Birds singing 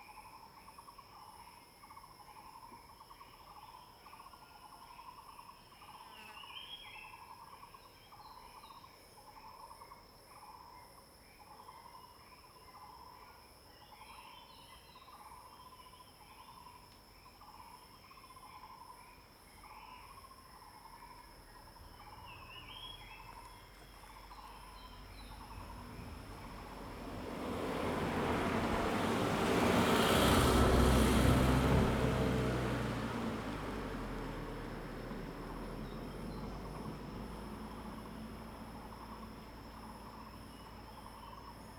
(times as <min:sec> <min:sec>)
0:22.0 0:41.7